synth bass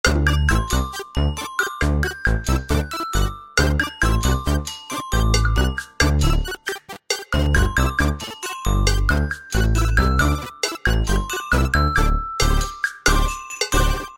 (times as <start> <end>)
0.0 6.5